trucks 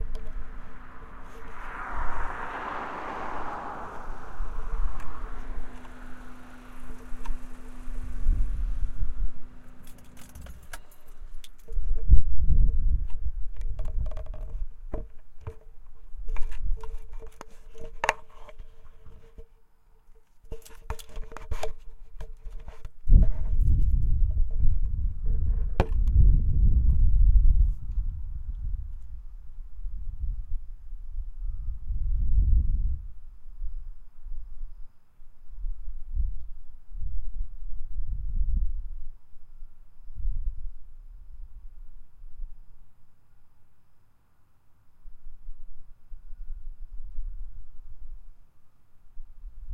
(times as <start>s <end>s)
0.0s 11.8s